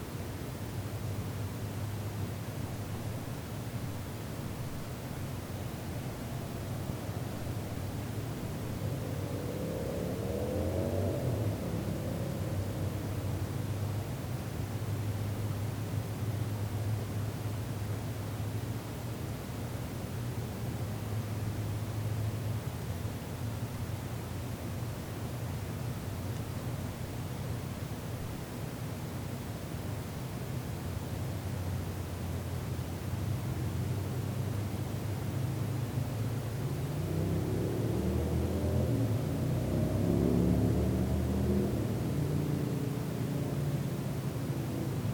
0.0s Distant cars and motorcycles 45.1s
2.7s Airplanes 24.4s
5.8s One close car driving past, stopping, and turning around 18.7s
31.4s One close car driving past, stopping, and turning around 45.1s
31.6s Airplanes 45.1s

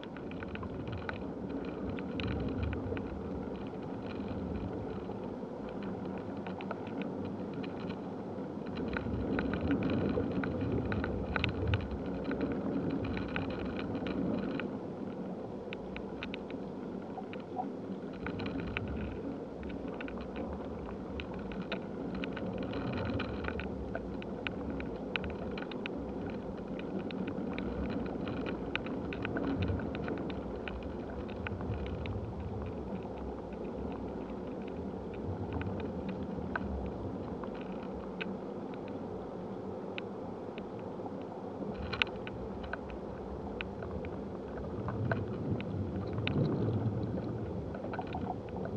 0.0s dead tree in a wind 48.7s

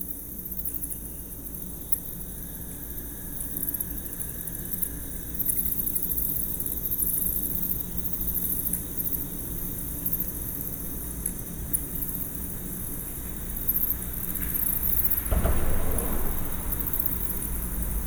13.2s crickets 18.0s

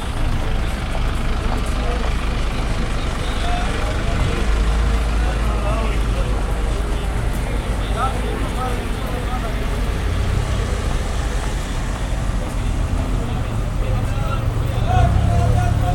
0.0s Morning bustle at the regional bus station 15.9s

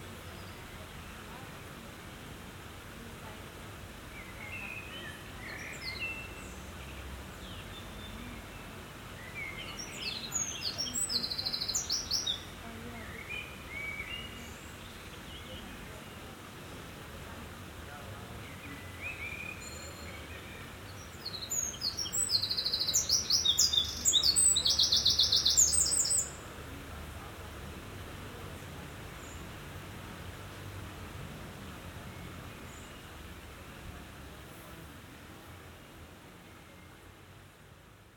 18.3s Blackbirds 26.4s

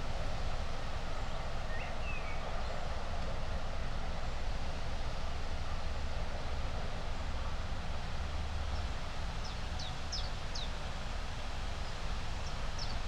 0.0s wind 13.0s

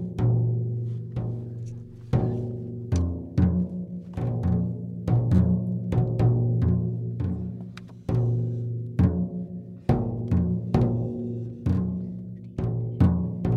0.0s trommelworkshop mit kindern 13.5s

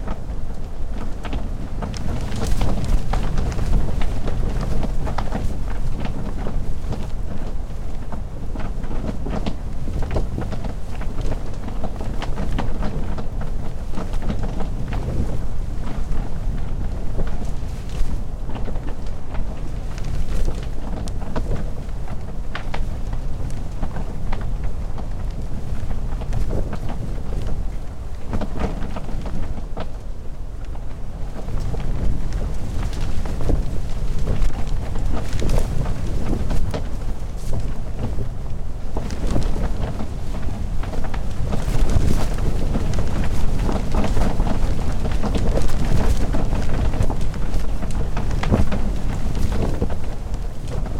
0.0s Yurt tent X sea wind 50.9s

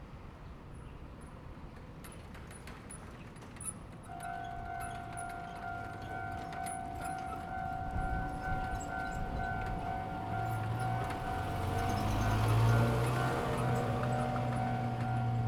1.5s The train runs through 15.4s
4.1s Traffic sound 15.4s

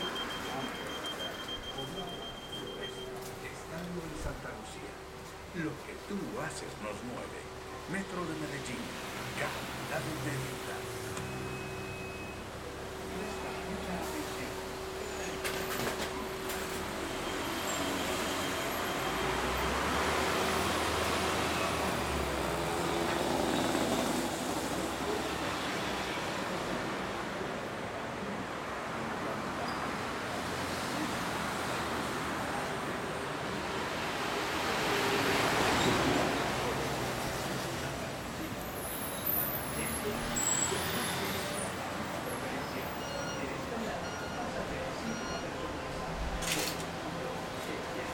0.0s maquinaria destinada para el transporte 27.7s
31.0s maquinaria destinada para el transporte 48.1s

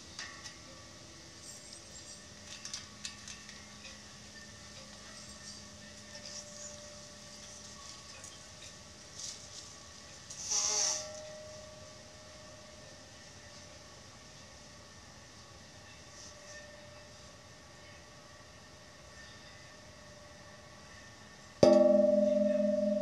21.6s metal tram pole 23.0s

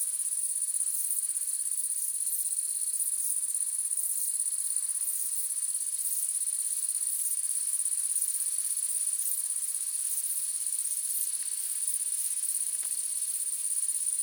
0.0s crickets 14.2s

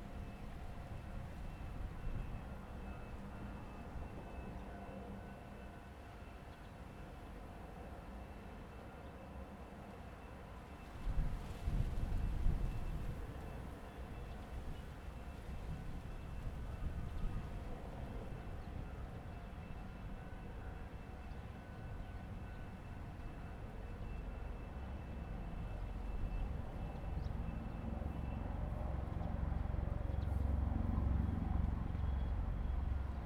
0.0s The train runs through 33.2s

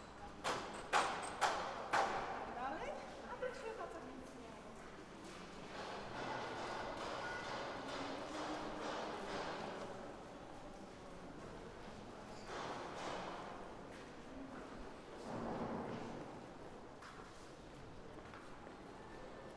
0.3s Reconstruction 2.4s
5.2s Reconstruction 10.0s

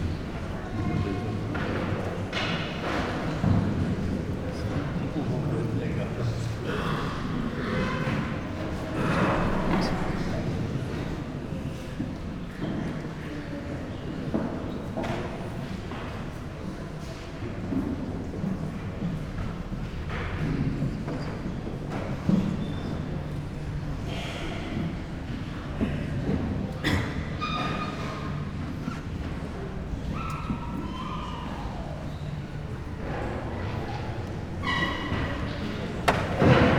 0.0s murmur of people 36.7s
26.7s coughs 27.4s

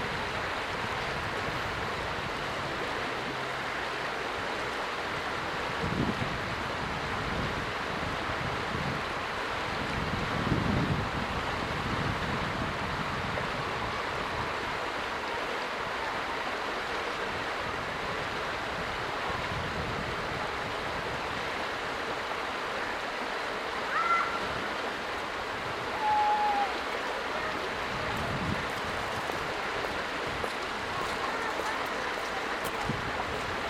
20.3s water gurgling 33.6s
30.9s children talking and shouting 32.6s

